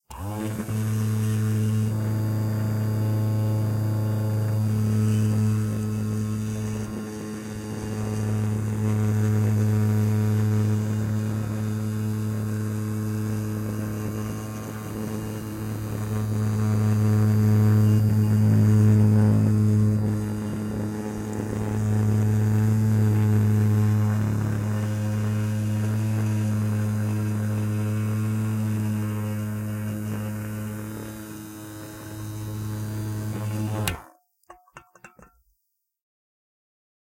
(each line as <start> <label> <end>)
0.0 razor used to vibrate a metal can 35.5